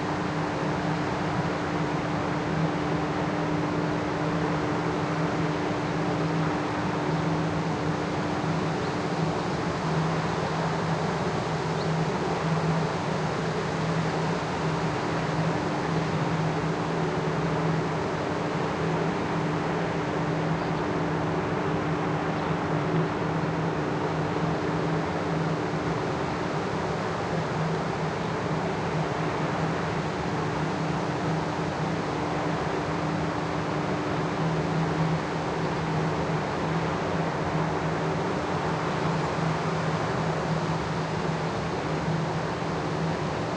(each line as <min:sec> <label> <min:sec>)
0:00.0 hydroelectric power station 0:43.5
0:00.0 river 0:43.5